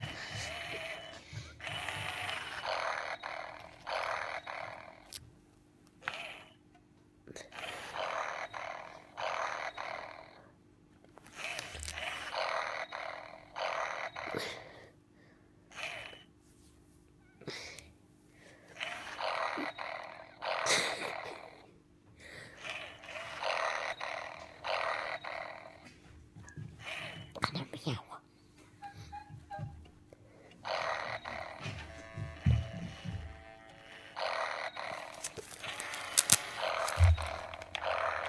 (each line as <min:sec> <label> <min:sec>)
0:00.0 toy cat snoring 0:05.3
0:05.9 toy cat snoring 0:06.6
0:07.3 toy cat snoring 0:10.6
0:11.2 toy cat snoring 0:15.0
0:15.7 toy cat snoring 0:16.3
0:18.6 toy cat snoring 0:27.8
0:30.4 toy cat snoring 0:38.2